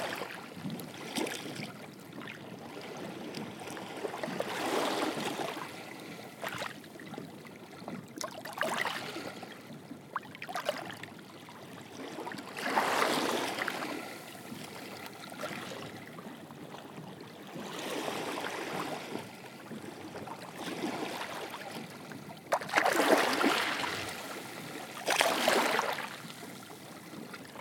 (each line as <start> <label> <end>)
0.0 Boats 27.6
10.4 Lapping Waves 27.6